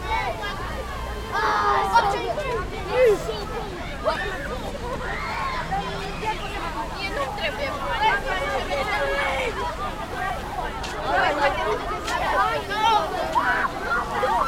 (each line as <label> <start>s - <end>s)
fountain 0.0s - 14.4s